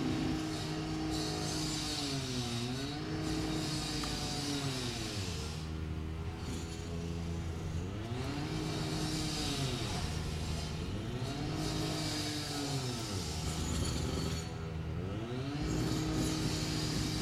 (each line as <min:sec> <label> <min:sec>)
0:00.0 Construction 0:17.2